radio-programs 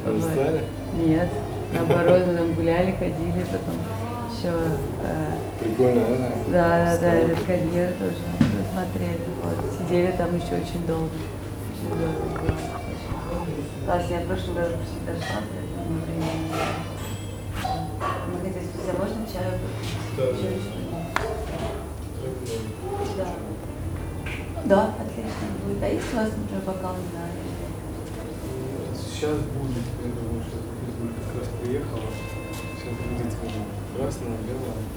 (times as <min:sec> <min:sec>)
0:11.6 0:14.0